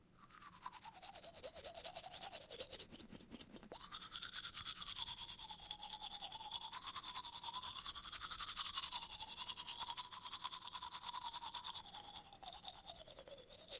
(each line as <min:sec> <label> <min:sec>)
0:00.2 Brushing teeth 0:13.7